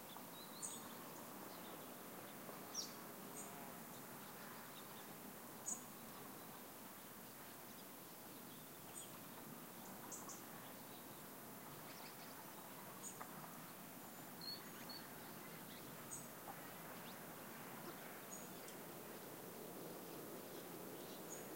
singing birds 0.0 - 6.7
singing birds 7.7 - 17.2

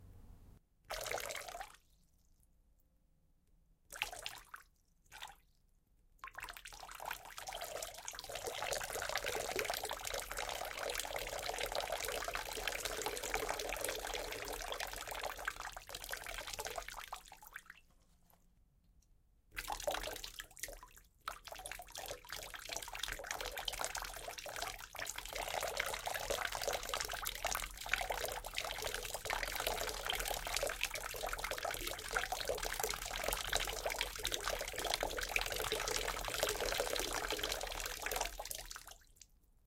POURING WATER 7.2 - 17.0
POURING WATER 21.4 - 39.2

